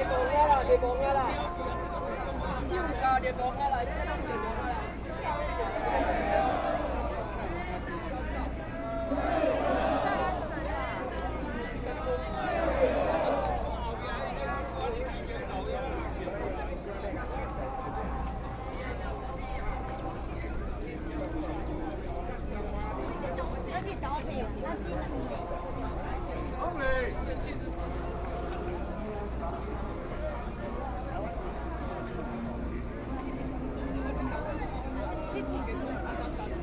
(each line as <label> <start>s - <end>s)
Shouting slogans 4.3s - 7.8s
Shouting slogans 8.6s - 14.1s